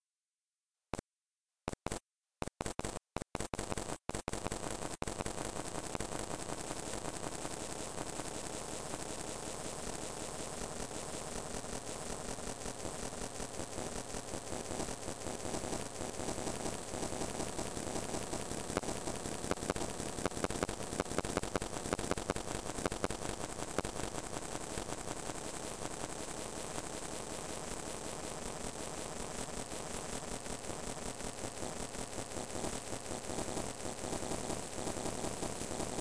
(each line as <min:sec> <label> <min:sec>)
0:01.7 Crackling and clicking drone 0:36.0